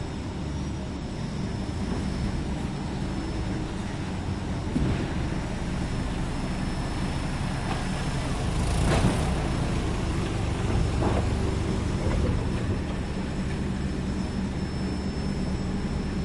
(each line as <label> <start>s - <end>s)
forklift 0.0s - 16.2s